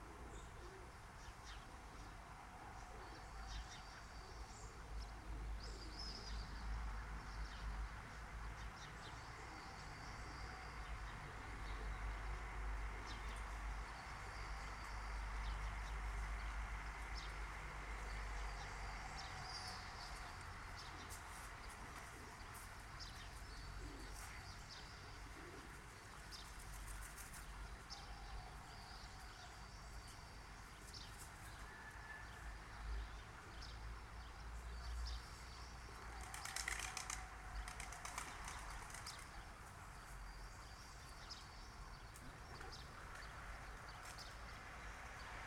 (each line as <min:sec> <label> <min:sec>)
0:18.0 Night birds 0:44.7